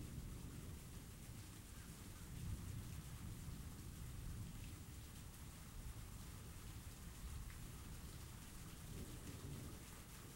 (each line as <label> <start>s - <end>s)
rain 0.0s - 10.3s